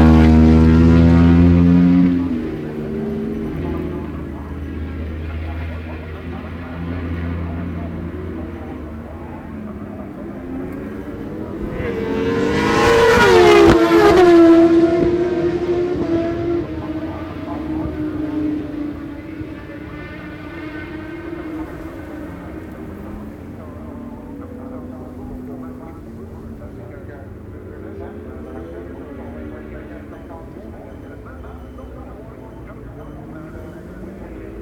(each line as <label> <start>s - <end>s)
superbikes 0.0s - 34.6s